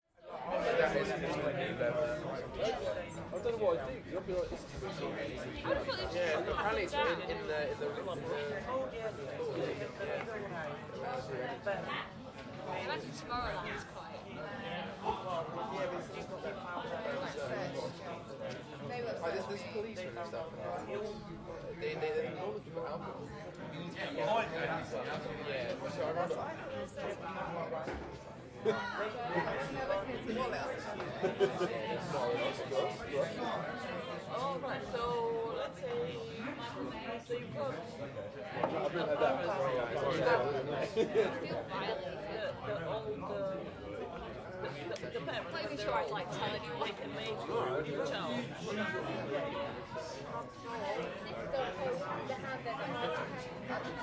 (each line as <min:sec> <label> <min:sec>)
0:00.1 crowd 0:54.0